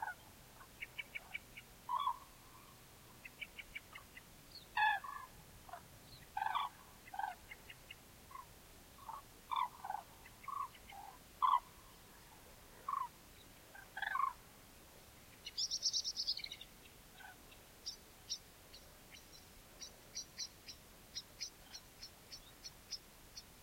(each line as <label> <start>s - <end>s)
flocks of cranes 1.9s - 2.7s
flocks of cranes 4.8s - 7.5s
flocks of cranes 8.3s - 11.8s
flocks of cranes 12.8s - 14.4s